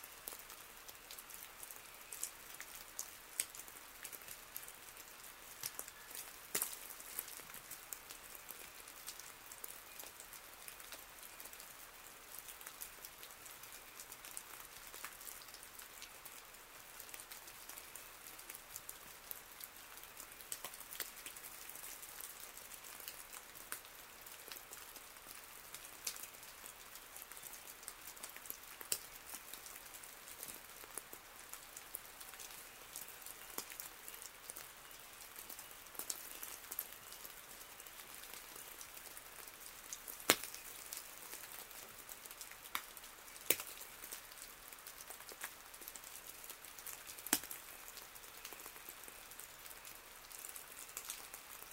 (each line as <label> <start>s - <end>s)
snowfall, sleet and hail 0.0s - 51.7s